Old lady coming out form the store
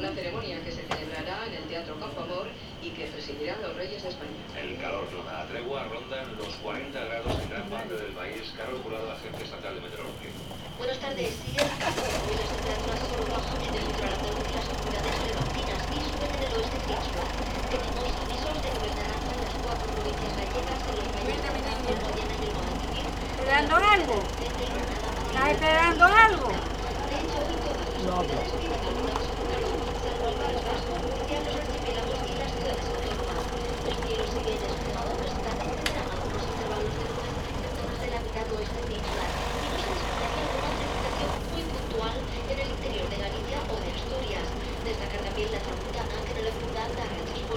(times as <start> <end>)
6.1 43.8